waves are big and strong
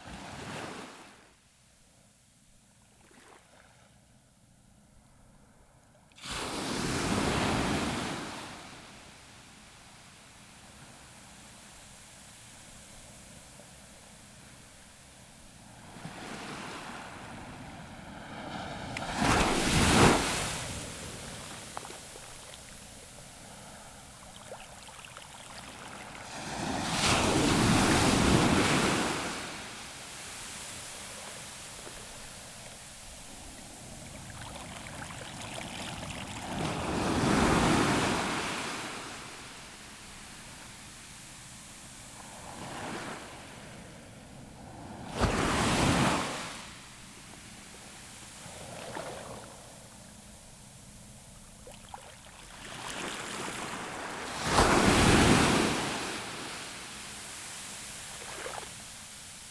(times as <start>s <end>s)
6.2s 9.2s, 15.6s 50.3s, 51.6s 59.5s